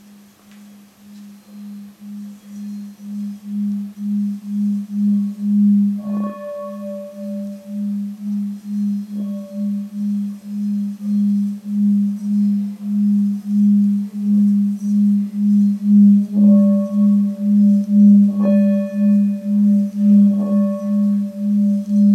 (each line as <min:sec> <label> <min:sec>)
0:00.6 hit and stroke of a Tibetan bell 0:22.1